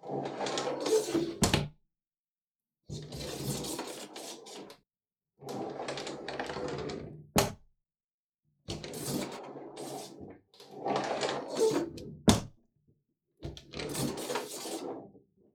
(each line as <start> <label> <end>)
1.2 wooden, bathroom door being opened and closed 1.7
7.3 wooden, bathroom door being opened and closed 7.6
12.2 wooden, bathroom door being opened and closed 12.6